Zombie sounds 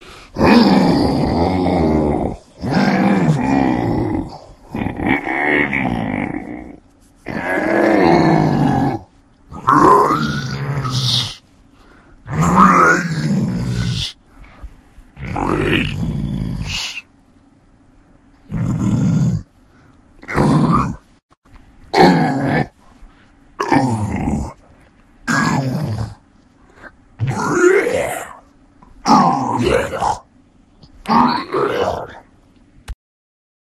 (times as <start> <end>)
0.0 11.4, 12.3 14.2, 15.2 17.1, 20.2 21.0, 21.9 22.8, 23.6 24.6, 25.3 26.2, 26.8 30.3, 31.0 32.2